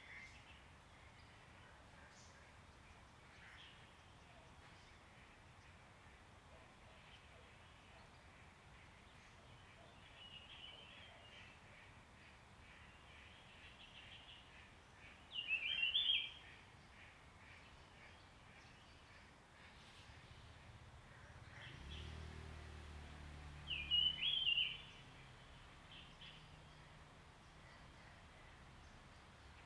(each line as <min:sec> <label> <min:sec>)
0:23.5 Bird sounds 0:29.6